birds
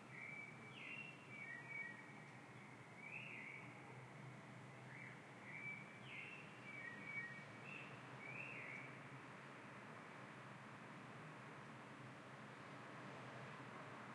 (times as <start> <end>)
0.0 3.8, 4.8 9.0